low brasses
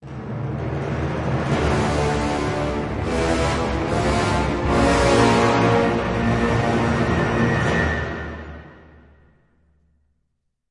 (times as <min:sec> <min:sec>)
0:01.4 0:08.7